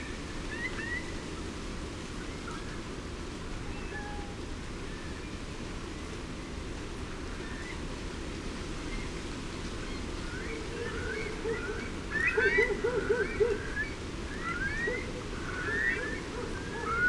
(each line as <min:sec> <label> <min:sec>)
0:00.0 Wind 0:17.0
0:00.0 rain 0:17.0
0:10.6 tawny owl 0:17.0